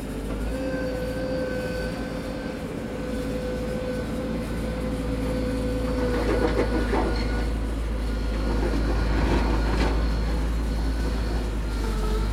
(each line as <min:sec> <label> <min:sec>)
0:00.0 small tractor, snowplough, ploughing snow 0:12.3